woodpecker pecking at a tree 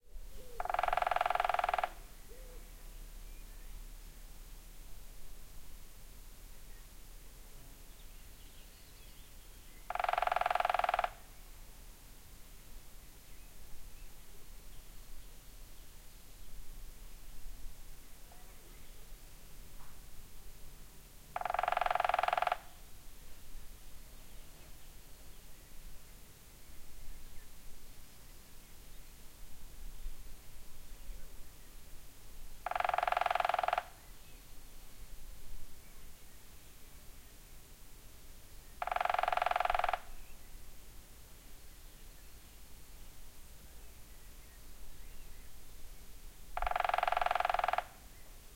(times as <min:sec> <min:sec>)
0:00.6 0:02.0, 0:09.9 0:11.2, 0:21.4 0:22.7, 0:32.6 0:34.0, 0:38.8 0:40.1, 0:46.6 0:48.0